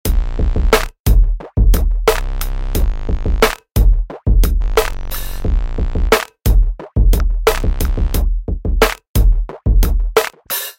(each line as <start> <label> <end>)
0.0 Hip Hop beats 10.7